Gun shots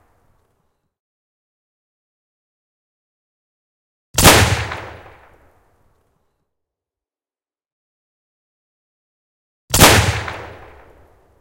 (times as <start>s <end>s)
4.2s 5.4s, 9.7s 11.1s